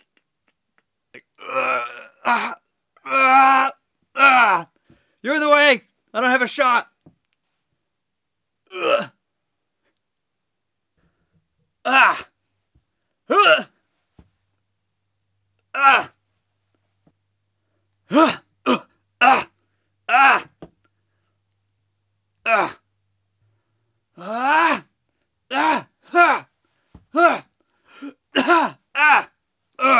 Henchman #1 Fight Vocalizations 1.2 - 4.7
Henchman #1 Fight Vocalizations 11.9 - 12.3
Henchman #1 Fight Vocalizations 18.1 - 20.6
Henchman #1 Fight Vocalizations 22.5 - 22.8
Henchman #1 Fight Vocalizations 24.2 - 24.9
Henchman #1 Fight Vocalizations 25.5 - 26.5
Henchman #1 Fight Vocalizations 27.1 - 27.5
Henchman #1 Fight Vocalizations 28.4 - 29.9

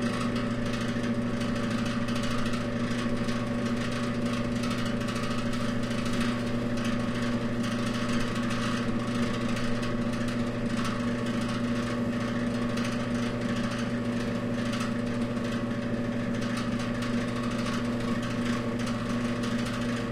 old heater fan 0.0 - 20.1

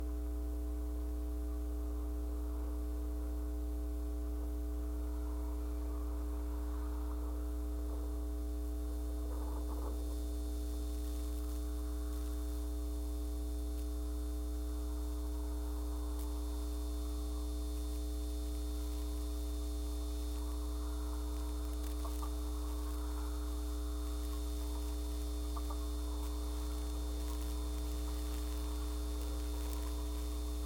60 Hz hum 0.0 - 30.6
rising static 8.7 - 30.6

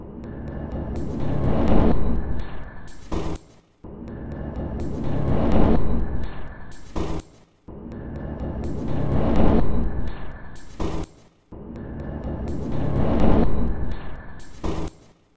Drum Loop 0.6 - 3.5

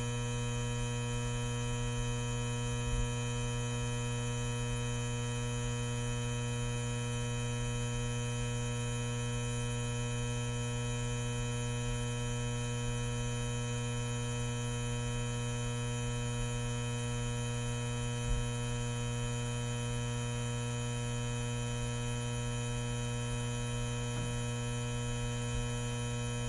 neon sign buzz hum 0.0 - 26.4

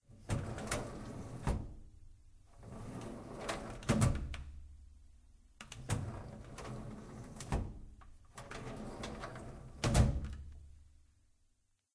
Opening and closing office drawer 0.1 - 1.8
Opening and closing office drawer 2.6 - 4.4
Opening and closing office drawer 5.7 - 10.5

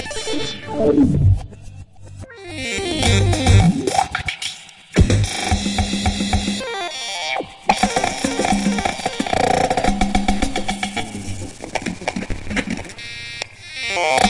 8bar funk loop 2.6 - 6.6
8bar funk loop 7.7 - 13.0

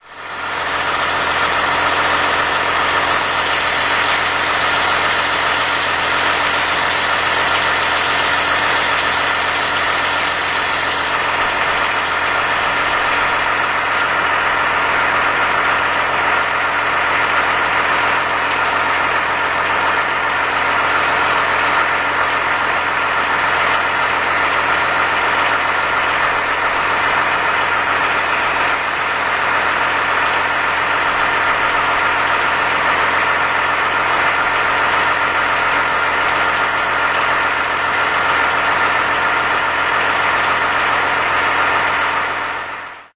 engine of crane lorry standing by pedestrian crossing 0.0 - 43.1

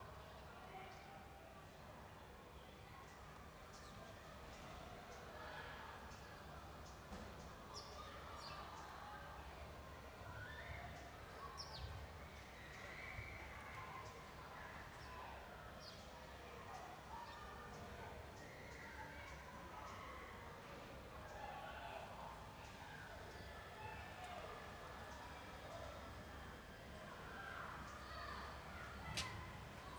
people passing by 17.5 - 29.9
air conditioner 21.4 - 29.9

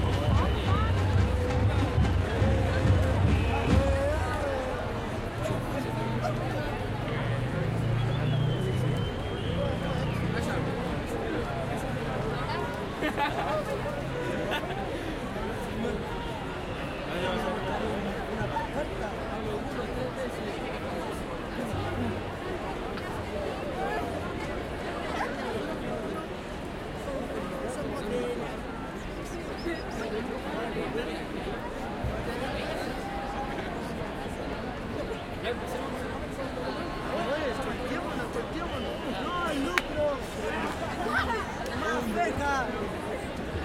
Cánticos de estudiantes 0.0 - 43.6
crowd 0.0 - 43.6

